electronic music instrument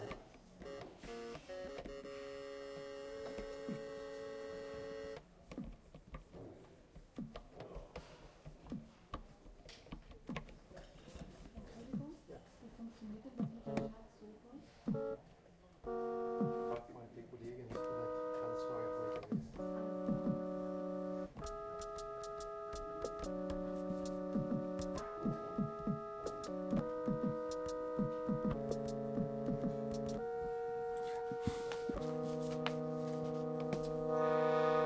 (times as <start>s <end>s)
15.9s 16.8s, 17.8s 34.8s